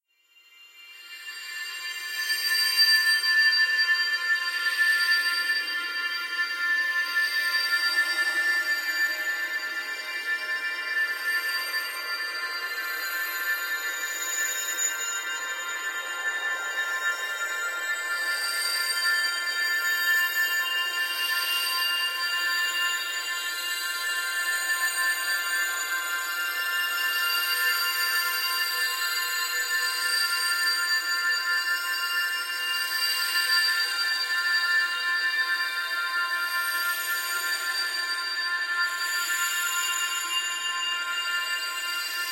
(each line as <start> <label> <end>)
7.4 Wind Chimes 42.3